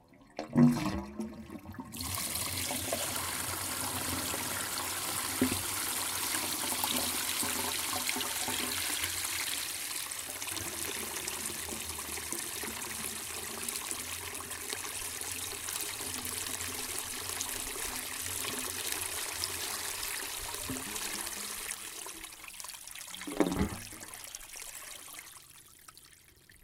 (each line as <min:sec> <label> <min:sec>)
0:23.1 Plastic drainpipe 0:24.2